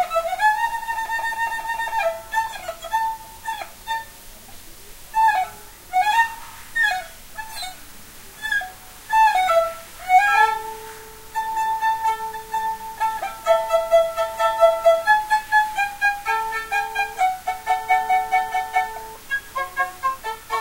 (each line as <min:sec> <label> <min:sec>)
0:00.0 violin doodling 0:20.6